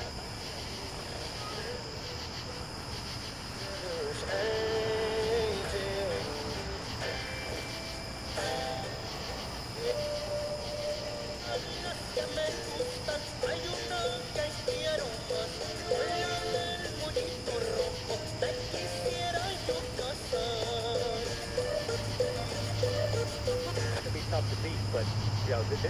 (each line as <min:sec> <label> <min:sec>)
0:00.0 cicadas 0:25.8
0:00.0 traffic 0:25.8